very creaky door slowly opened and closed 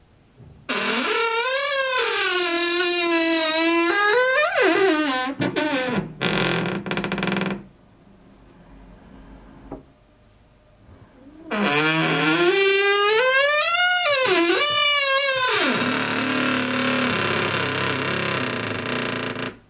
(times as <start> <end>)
0.7 7.7, 11.2 19.6